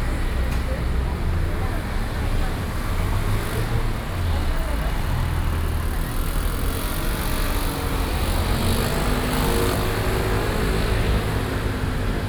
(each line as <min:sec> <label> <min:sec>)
0:00.0 Traffic noise 0:12.2